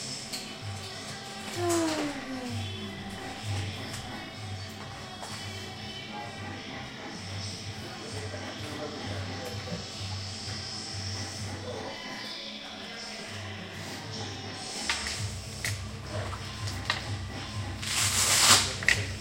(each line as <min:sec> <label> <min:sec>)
0:00.0 music 0:19.2